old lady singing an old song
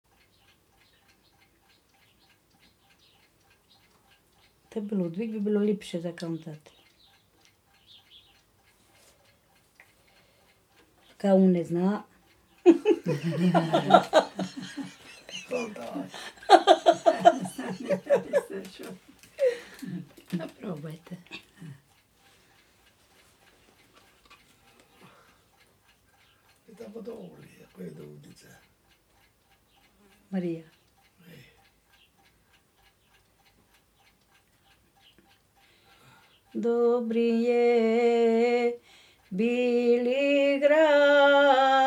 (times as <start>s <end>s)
36.5s 41.8s